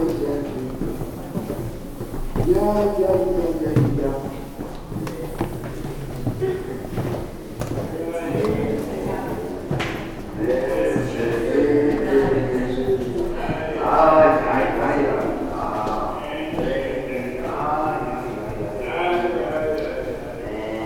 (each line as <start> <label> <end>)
0.0 steps of visitors 20.8